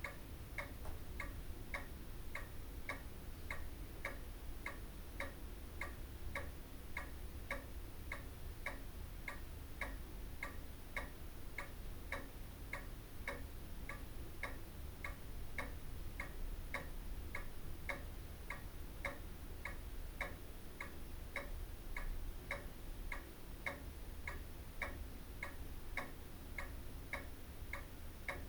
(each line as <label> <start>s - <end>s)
pendulum wall clock ticks on 0.0s - 28.4s